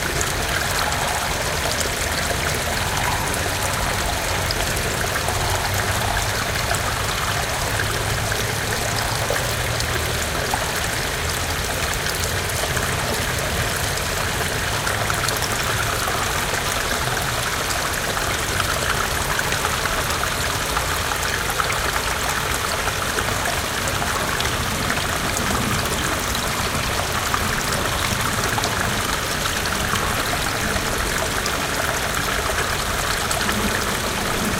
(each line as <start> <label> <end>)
0.0 a lot of water seemed to stream 34.5